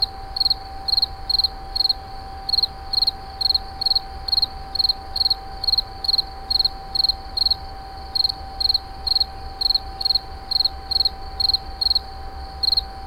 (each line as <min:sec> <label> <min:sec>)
0:00.0 Insect 0:13.0